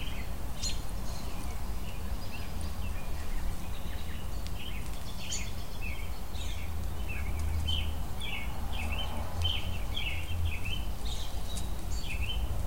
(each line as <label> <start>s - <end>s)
American robins making their calls 0.0s - 12.5s